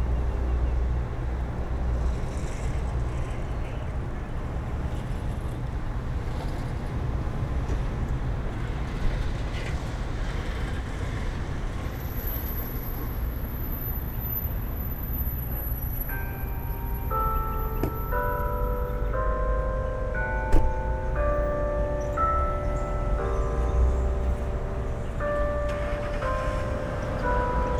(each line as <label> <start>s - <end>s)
cars 0.0s - 27.7s
bells 14.0s - 27.7s